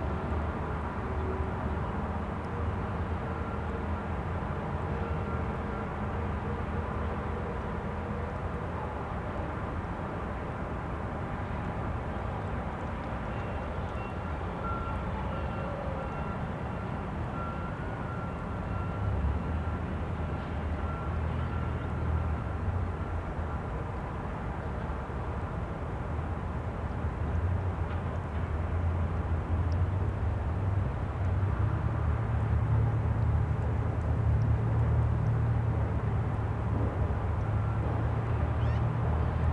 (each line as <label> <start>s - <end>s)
Urban noise across the river 0.0s - 39.5s